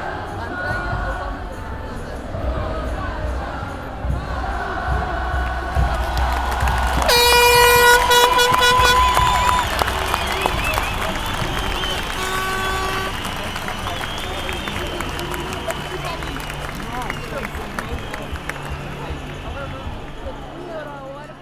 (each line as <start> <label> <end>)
0.0 drums 20.9
0.0 music 21.4
2.4 horns 21.4
5.8 people yelling 20.8